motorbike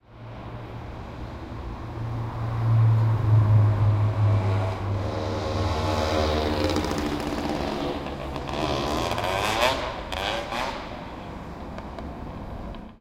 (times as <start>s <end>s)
3.0s 13.0s